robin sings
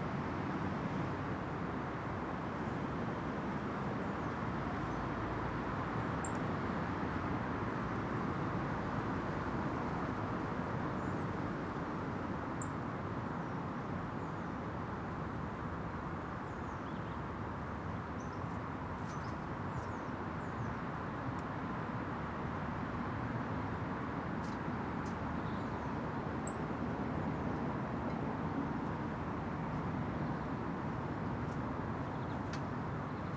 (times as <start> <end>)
25.4 26.6